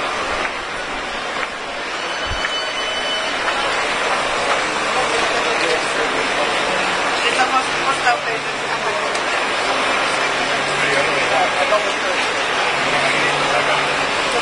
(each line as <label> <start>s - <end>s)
crowd 0.0s - 14.4s